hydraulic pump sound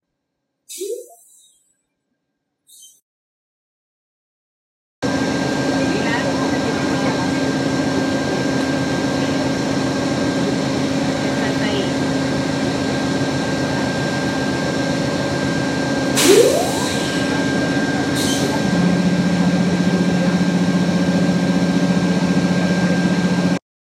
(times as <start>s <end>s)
0.7s 1.6s, 9.9s 23.6s